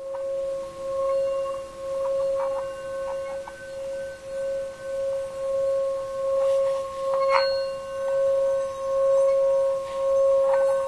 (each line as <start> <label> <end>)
0.0 tibetan bowl 10.8